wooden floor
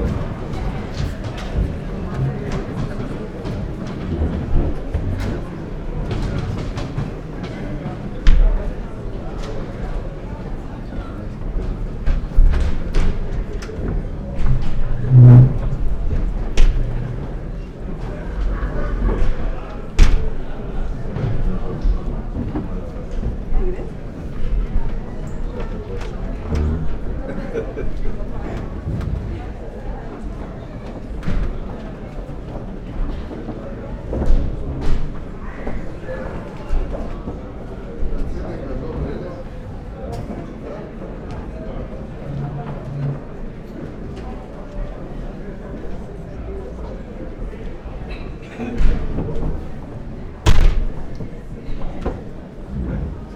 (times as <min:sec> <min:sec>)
0:00.0 0:07.6, 0:11.5 0:17.4